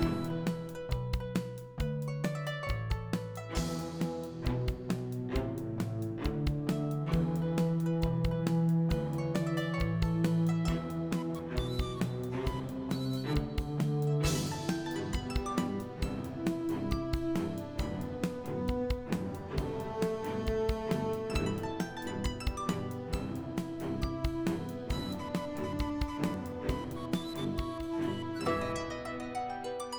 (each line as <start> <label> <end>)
0.0 flute 0.7
0.0 drums 29.0
0.0 harp 29.9
0.0 strings 29.9
8.9 flute 29.6